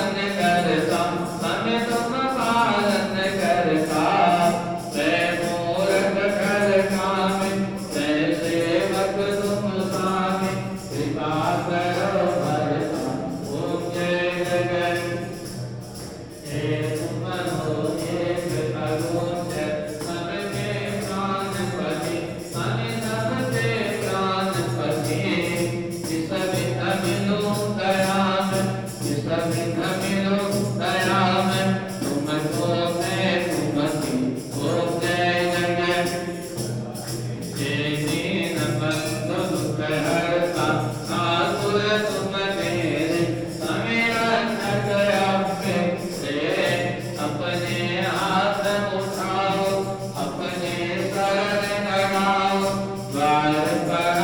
religious ceremony music 0.0 - 54.2

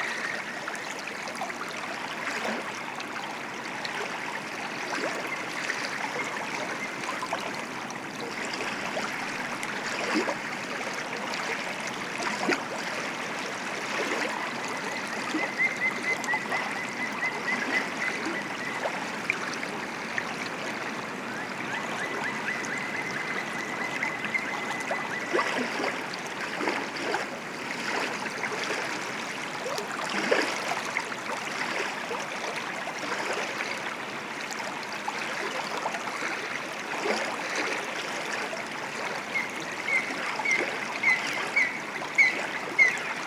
River flow 0.0 - 43.2

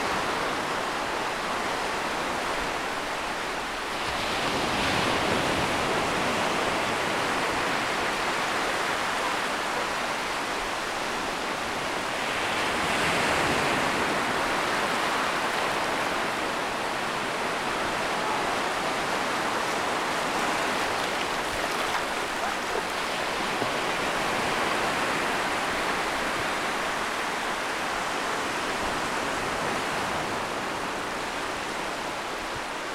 wave splash up my shorts 17.6 - 25.0

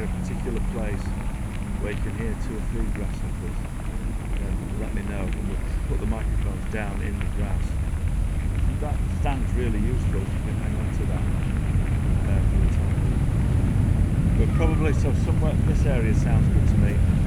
ants in their hill 0.0 - 17.2
talking to other workshop participants 0.0 - 17.2

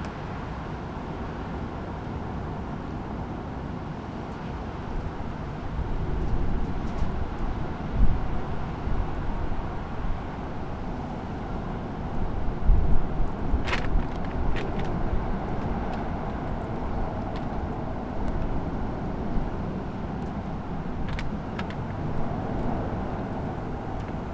strong wind over the city 4.4 - 24.3
plastic container moving in the wind 11.7 - 24.3
pile of papers flapping their pages 12.8 - 19.2
pile of papers flapping their pages 20.4 - 24.3

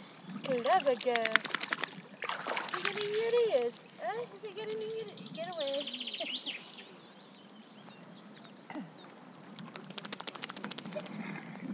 dog enjoying the water 0.0 - 6.1

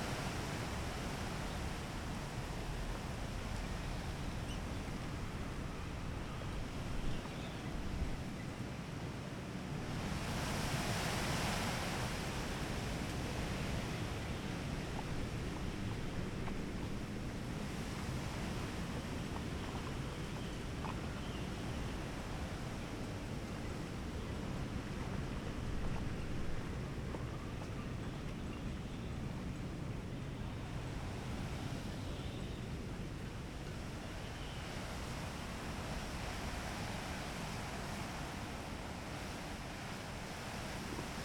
trees swaying in the wind 0.0 - 41.2
water laps against the bank 11.0 - 32.0

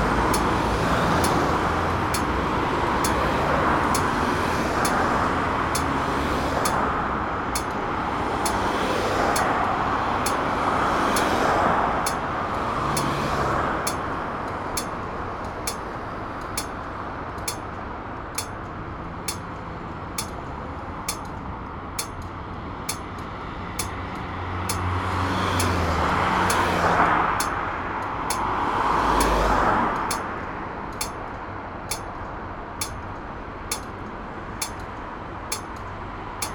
swing bridge sounds its alarm 0.0 - 17.7
red light signal sounds the traffic for blind people 0.0 - 19.6
heavy traffic 0.0 - 36.5
red light signal sounds the traffic for blind people 20.2 - 24.9
red light signal sounds the traffic for blind people 26.5 - 28.6
red light signal sounds the traffic for blind people 29.2 - 36.5

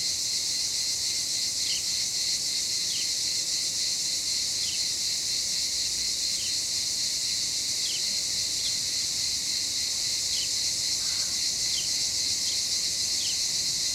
Cicadas 0.0 - 13.9
crow 11.0 - 11.8

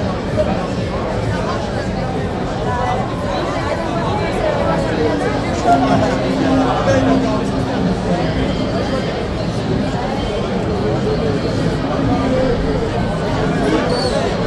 human crowd 0.0 - 14.4

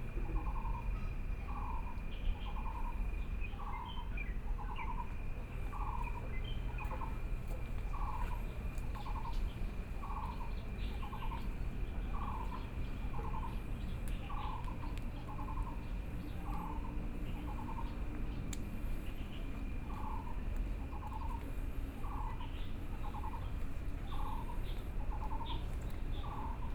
Insects sound 0.0 - 26.7
Birdsong 0.1 - 26.7
Frogs sound 0.1 - 26.7

